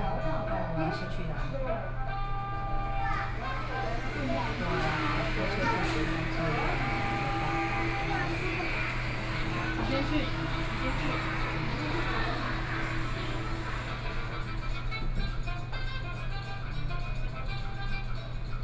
2.1s Elevator 15.8s

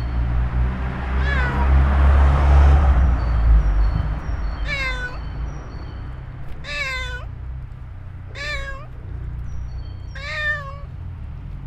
0.0s huge trees full of birds 11.6s
1.2s urgent sobbing of a cat 1.7s
4.6s urgent sobbing of a cat 5.2s
6.6s urgent sobbing of a cat 7.3s
8.3s urgent sobbing of a cat 9.0s
10.2s urgent sobbing of a cat 10.9s

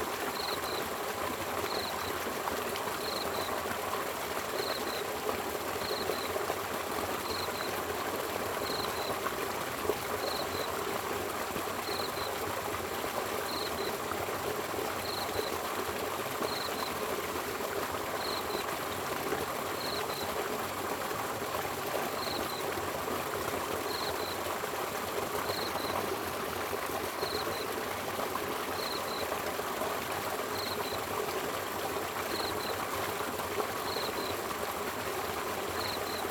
0.3s insects 0.9s
1.6s insects 2.2s
3.0s insects 3.6s
4.5s insects 5.0s
5.8s insects 6.4s
7.2s insects 7.8s
8.6s insects 9.2s
10.2s insects 10.8s
11.8s insects 12.4s
13.4s insects 14.0s
15.0s insects 15.6s
16.4s insects 17.0s
18.2s insects 18.7s
19.8s insects 20.3s
22.2s insects 22.8s
23.8s insects 24.4s
25.4s insects 26.1s
27.2s insects 27.7s
28.7s insects 29.3s
30.5s insects 31.1s
32.3s insects 32.9s
33.8s insects 34.4s
35.7s insects 36.3s

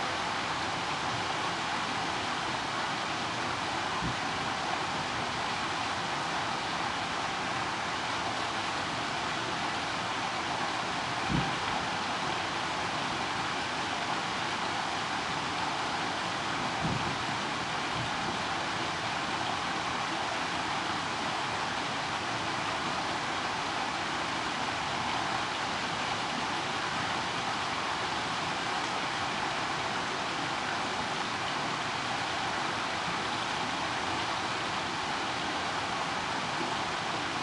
0.0s Rain 37.4s

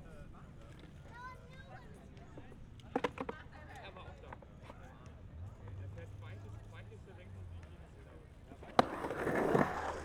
8.8s skaters excercising 10.0s

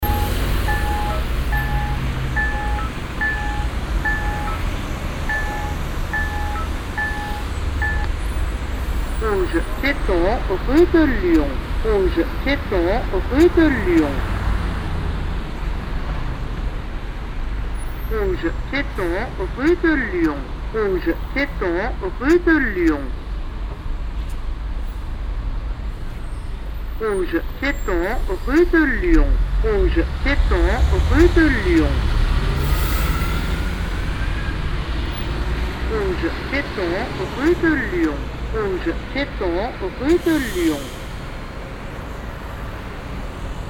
0.0s talking traffic sign 8.2s
9.2s talking traffic sign 14.3s
18.1s talking traffic sign 23.2s
27.0s talking traffic sign 32.2s
35.8s talking traffic sign 41.0s

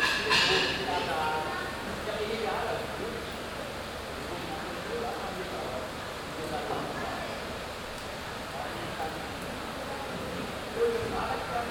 0.0s sounds of the bar 2.0s

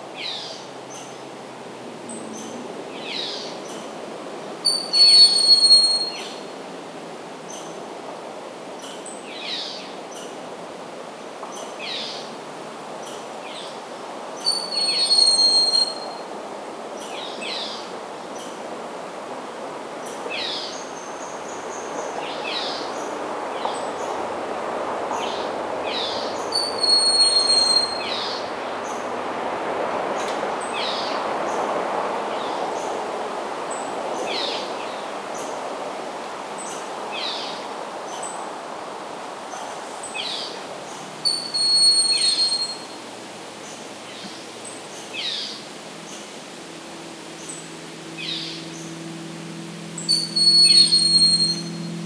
0.0s distant motorboats 7.9s
0.4s passing car 5.4s
10.0s distant motorboats 52.0s
17.6s passing car 52.0s
50.0s Broad-winged hawk 52.0s

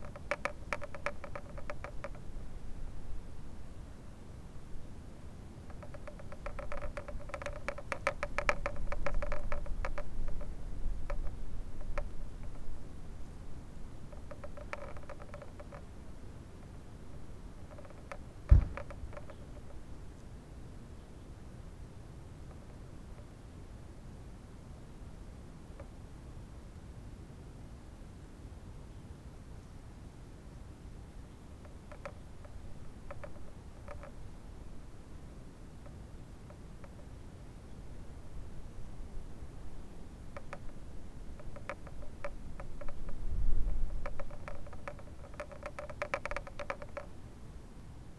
0.0s fence rattling in the wind 3.3s
5.6s fence rattling in the wind 20.2s
31.6s fence rattling in the wind 37.1s
38.1s fence rattling in the wind 47.2s

